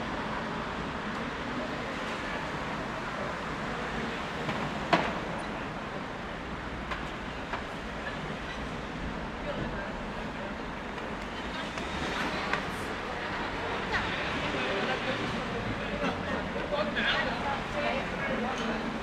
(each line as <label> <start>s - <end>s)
vehicle traffic 0.1s - 19.0s
chatter 9.3s - 19.0s